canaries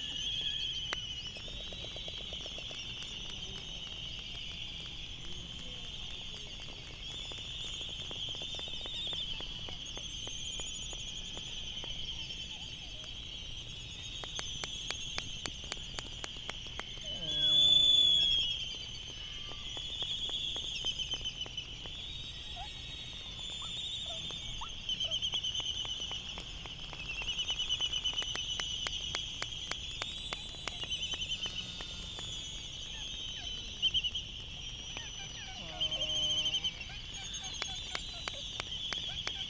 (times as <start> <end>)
30.4 39.4